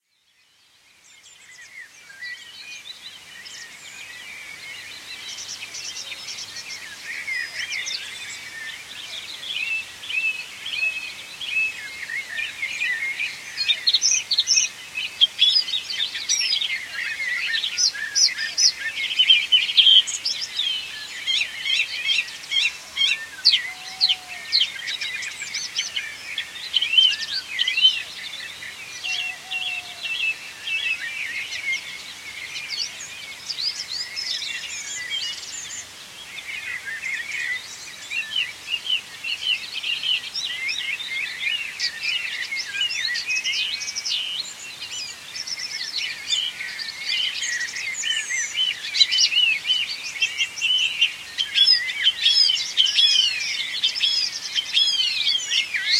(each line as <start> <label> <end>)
1.0 other birds 55.9
22.6 cuckoo 24.8
28.8 cuckoo 30.1